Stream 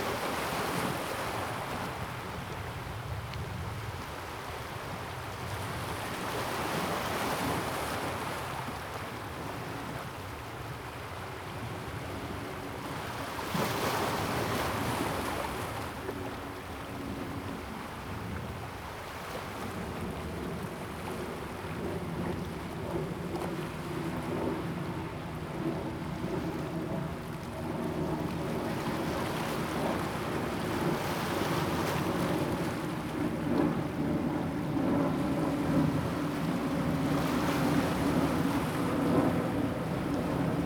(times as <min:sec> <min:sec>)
0:00.0 0:11.5, 0:24.9 0:40.6